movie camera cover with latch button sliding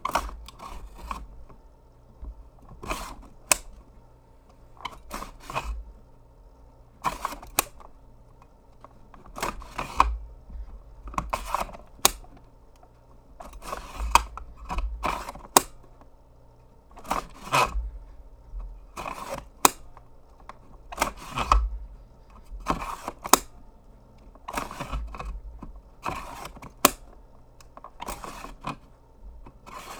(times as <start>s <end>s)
0.1s 1.4s, 2.8s 3.8s, 7.1s 7.9s, 8.8s 10.2s, 11.2s 12.4s, 13.4s 16.1s, 17.0s 17.8s, 19.0s 21.7s, 22.6s 23.6s, 24.4s 25.4s, 26.0s 28.9s, 29.5s 29.9s